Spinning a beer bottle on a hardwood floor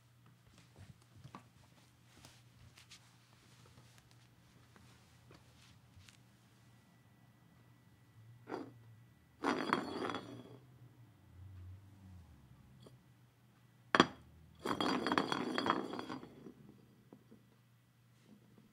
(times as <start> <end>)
9.4 10.6, 14.0 17.5